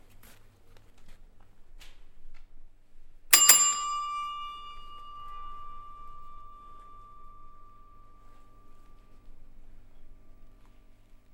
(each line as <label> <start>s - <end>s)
classic Desk Bell 3.3s - 10.6s